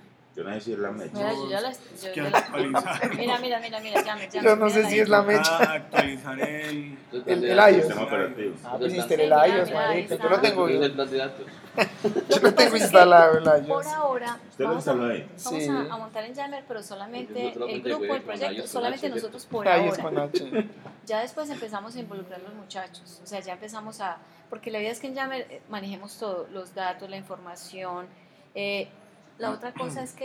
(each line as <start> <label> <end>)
1.1 docentes hablando 8.3